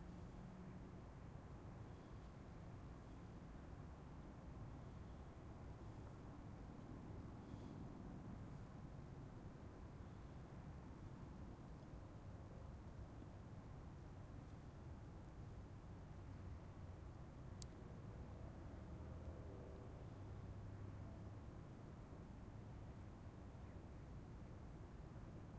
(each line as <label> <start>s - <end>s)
Wind 0.0s - 25.5s